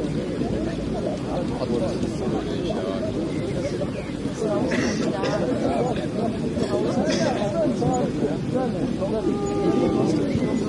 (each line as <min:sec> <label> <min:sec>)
0:00.0 chatter 0:10.6